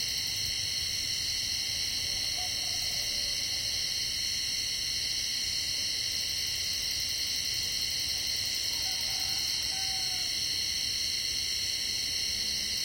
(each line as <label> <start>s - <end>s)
Cicadas 0.0s - 12.8s
Frogs 0.0s - 12.8s